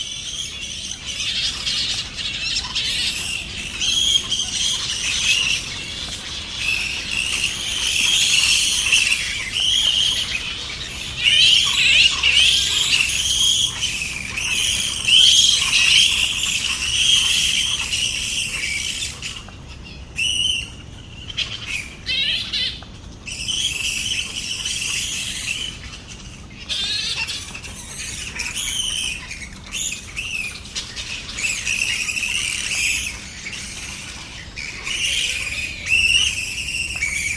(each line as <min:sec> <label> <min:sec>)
0:00.0 Fruit Bat colony 0:37.3